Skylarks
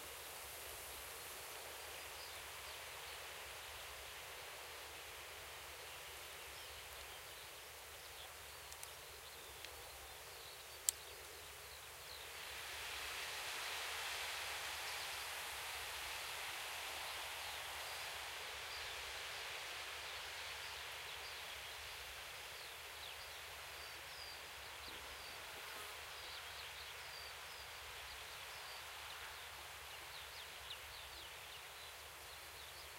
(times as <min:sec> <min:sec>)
0:05.7 0:12.5